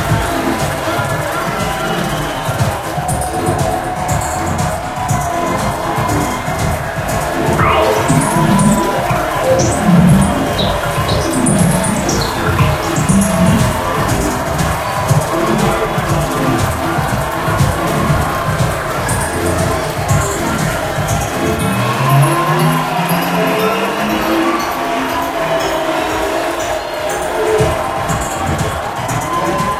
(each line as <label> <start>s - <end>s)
Crowd 0.0s - 29.7s
EDM music mix 0.0s - 29.7s